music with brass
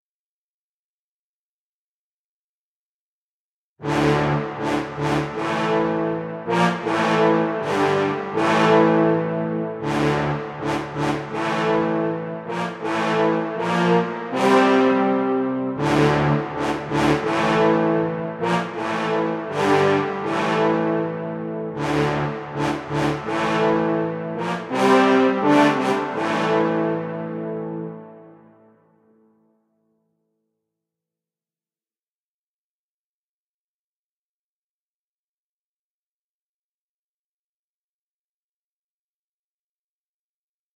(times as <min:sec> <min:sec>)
0:03.8 0:29.2